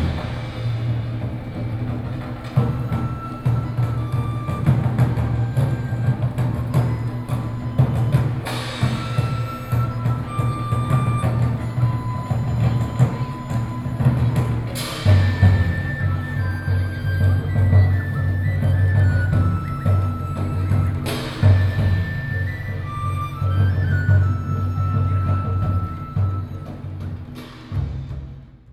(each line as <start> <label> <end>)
0.0 Traditional drum performances 28.7